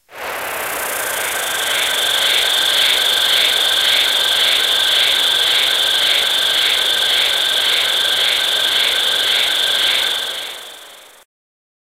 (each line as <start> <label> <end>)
0.1 bugs 11.2